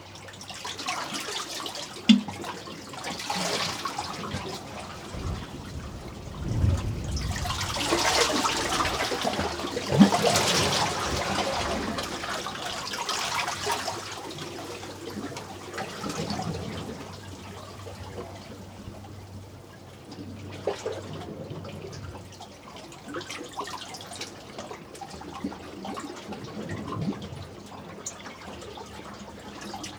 2.7s WATER WAVES 19.4s
3.2s splash 14.4s

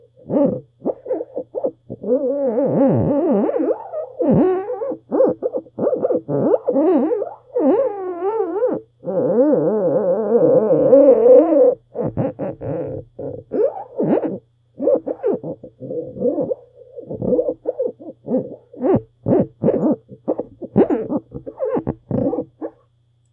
11.3s rub the plastic frames 22.9s

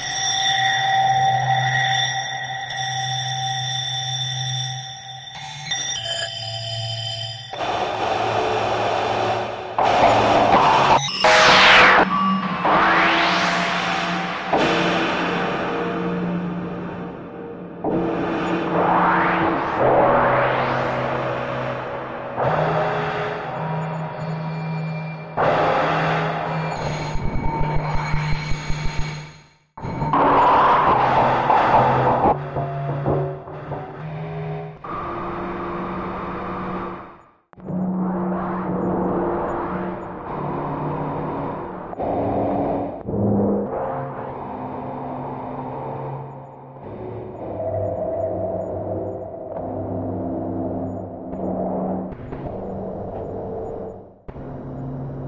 5.3s synthesizer 42.0s

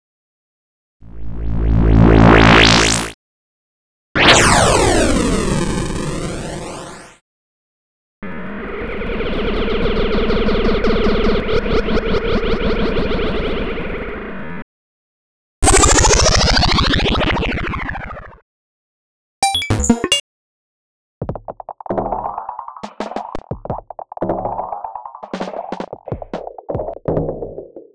19.4s Blips 20.2s

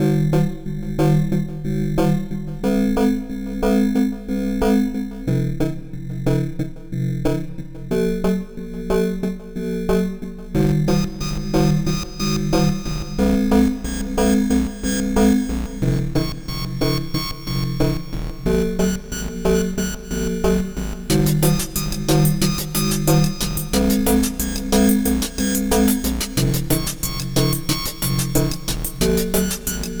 18.8s techno stuff 30.0s

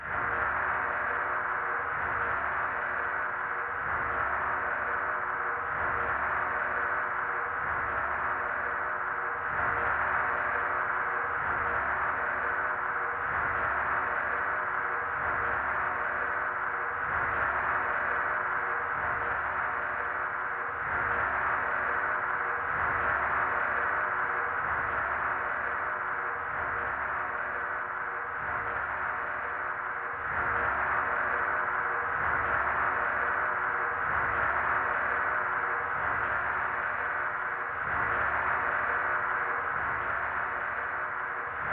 0.0s synthesizer 41.7s
28.2s rhythmic clanging 41.7s

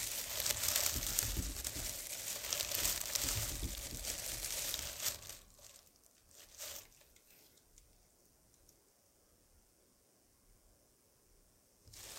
0.0s feet walking through dry leaves 7.0s
11.9s feet walking through dry leaves 12.1s

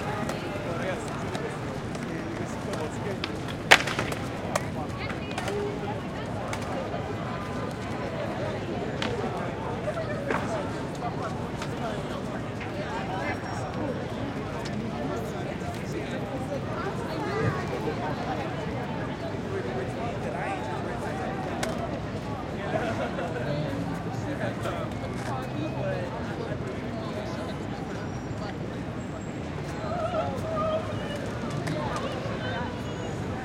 0.0s clack and roll of skate boards 13.2s
0.0s traffic 33.4s
21.0s clack and roll of skate boards 23.0s
31.0s clack and roll of skate boards 32.8s

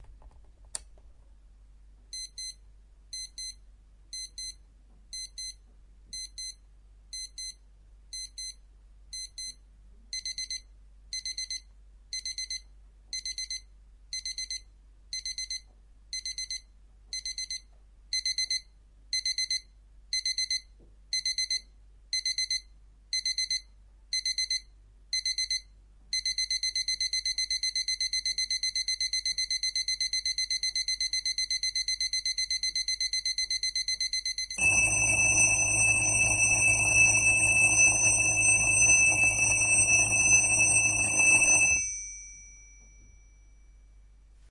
15.2s alarm 44.0s

